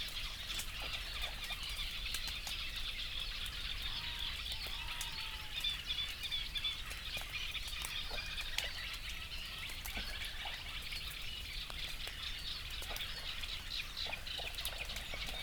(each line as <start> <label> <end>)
3.7 crow 6.4
3.8 coot 5.8
9.8 crow 10.8